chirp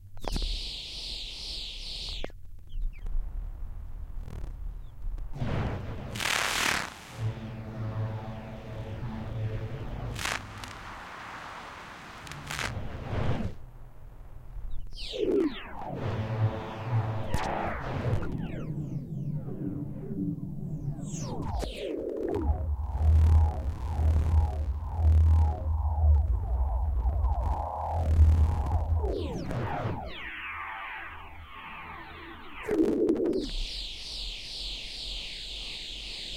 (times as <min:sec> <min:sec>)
0:00.2 0:03.0